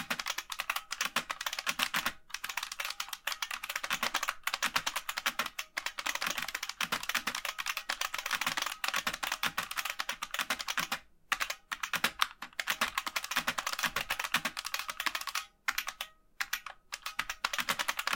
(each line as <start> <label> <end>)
0.0 Typing sounds 18.1